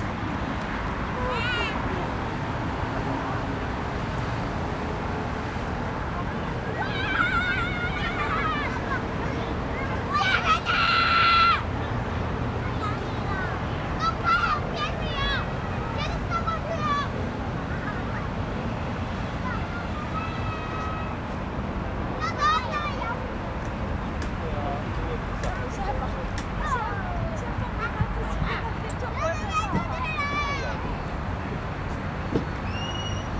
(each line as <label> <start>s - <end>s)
Traffic Sound 0.0s - 33.3s
Child 6.7s - 11.7s
Child 12.4s - 21.4s
Child 22.0s - 23.8s
Child 25.8s - 31.1s